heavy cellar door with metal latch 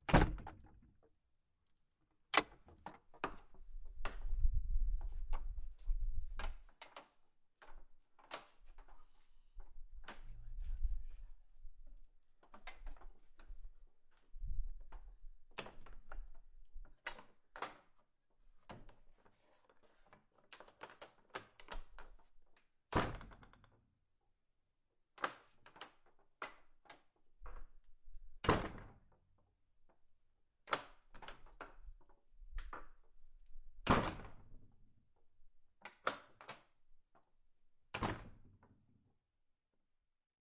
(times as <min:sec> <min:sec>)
0:00.0 0:01.0, 0:02.3 0:04.0, 0:28.4 0:29.2, 0:30.6 0:32.0, 0:33.8 0:34.8, 0:37.9 0:38.6